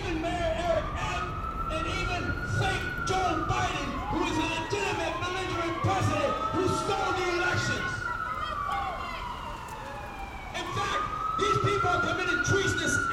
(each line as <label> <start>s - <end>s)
man with a megaphone shares his views 0.0s - 8.1s
man with a megaphone shares his views 10.5s - 13.1s